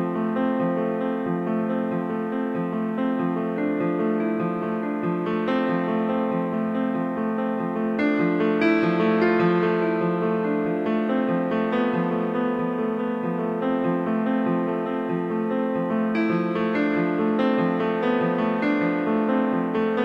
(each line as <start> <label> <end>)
0.0 Piano melody 20.0